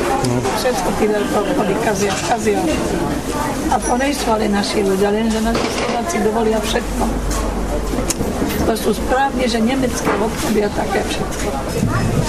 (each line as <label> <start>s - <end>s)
vendors telling some history 0.2s - 1.5s